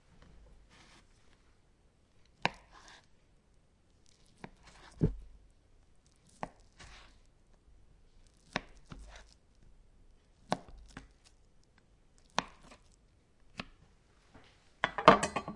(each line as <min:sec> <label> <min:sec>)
0:02.2 cutting Mozarella 0:03.1
0:03.9 cutting Mozarella 0:05.3
0:06.0 cutting Mozarella 0:07.3
0:08.2 cutting Mozarella 0:09.6
0:10.3 cutting Mozarella 0:13.8